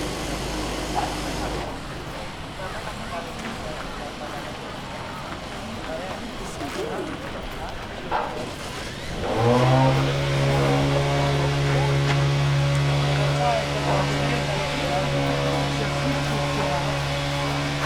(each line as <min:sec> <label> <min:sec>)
0:00.0 leveling it with a machine 0:01.8
0:08.1 leveling it with a machine 0:17.8